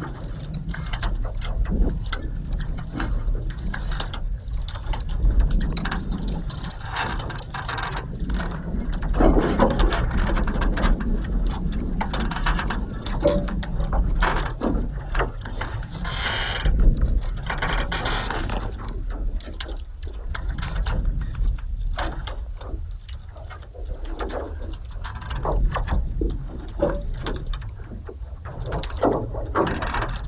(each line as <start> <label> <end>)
0.0 gushes of wind blowing along the surface 30.2